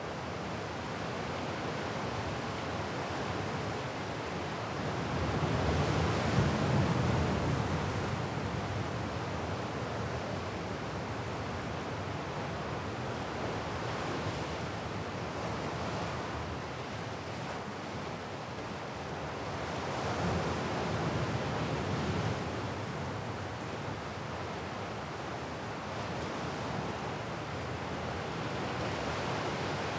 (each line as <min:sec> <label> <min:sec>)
0:00.0 wind 0:29.9
0:00.0 Ocean 0:29.9